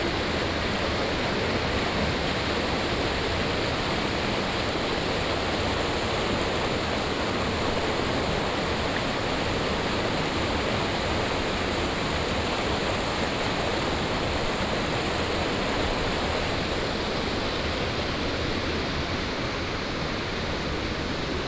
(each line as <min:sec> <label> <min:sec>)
0:00.0 Stream sound 0:21.4